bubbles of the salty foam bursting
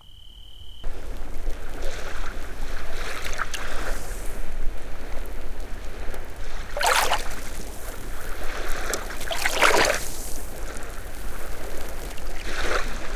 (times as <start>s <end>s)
6.6s 13.1s